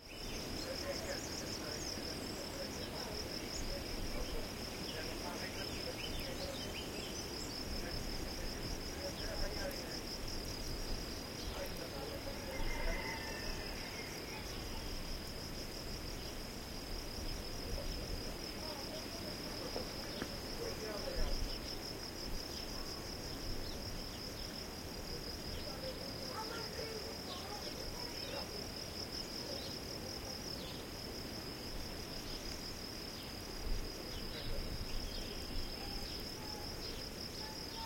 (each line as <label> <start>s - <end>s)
birds 0.0s - 9.8s
insects 0.0s - 37.8s
birds 11.0s - 15.0s